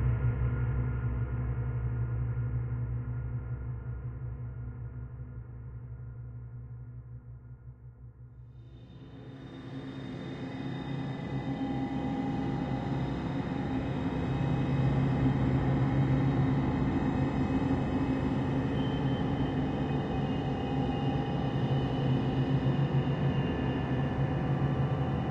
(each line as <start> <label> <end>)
9.0 Drone 25.3